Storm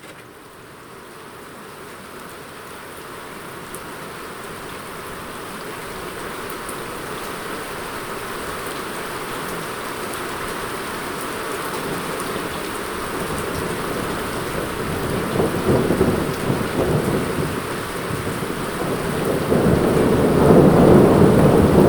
0:10.2 0:21.8

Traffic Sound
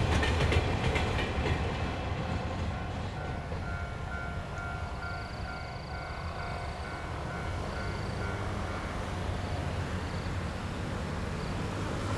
0:06.2 0:12.1

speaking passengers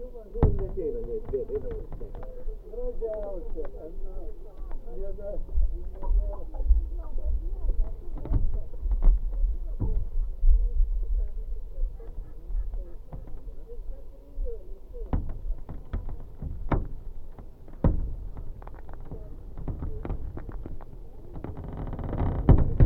0:00.0 0:16.4

